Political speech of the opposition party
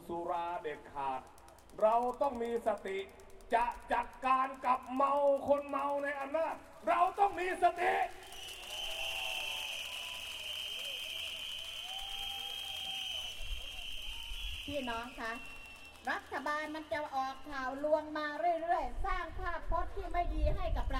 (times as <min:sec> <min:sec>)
0:00.0 0:08.3, 0:14.7 0:20.9